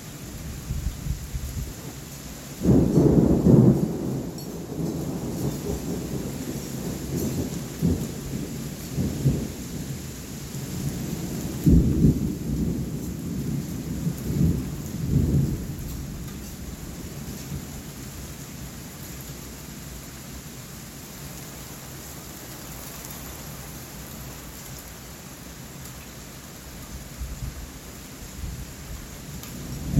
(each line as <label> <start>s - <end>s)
rain 0.0s - 29.9s
Very heavy thunder 2.6s - 9.9s
Very heavy thunder 10.8s - 17.7s
Very heavy thunder 29.4s - 29.9s